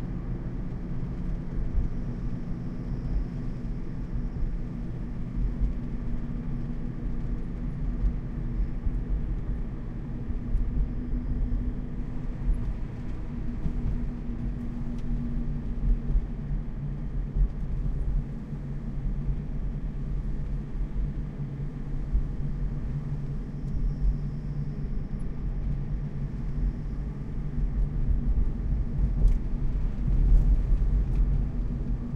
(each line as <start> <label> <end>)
0.0 INT CAR DRIVING 32.1